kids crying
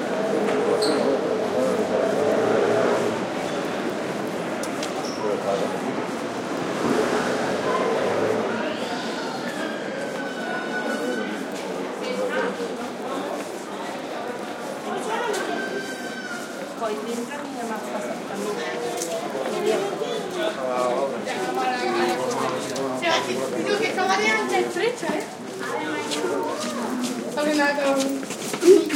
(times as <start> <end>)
28.6 28.9